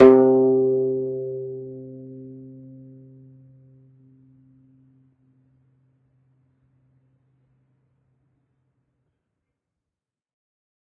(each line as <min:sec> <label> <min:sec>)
0:00.0 single string plucked medium-loud with finger 0:05.2